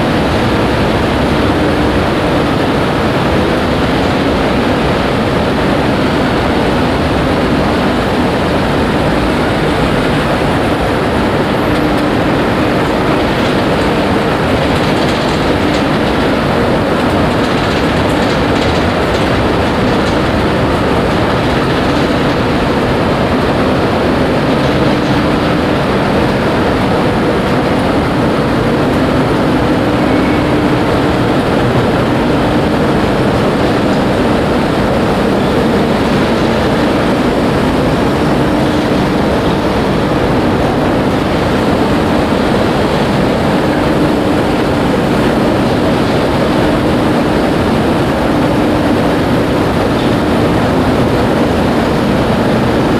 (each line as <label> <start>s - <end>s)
big 4 level high double moving staircase rolling empty 0.0s - 52.9s